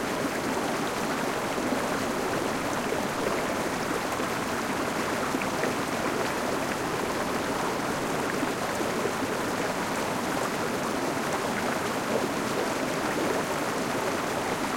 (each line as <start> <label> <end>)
0.0 small river 14.7